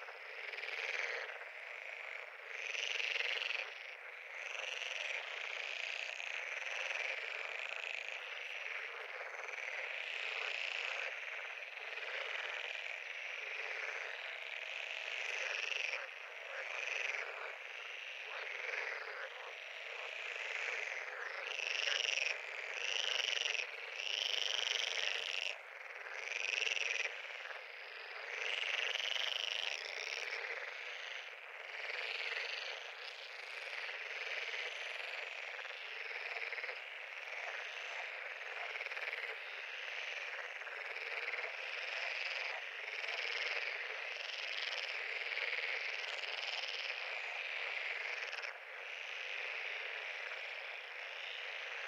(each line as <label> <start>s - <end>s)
Frogs croaking 0.0s - 51.8s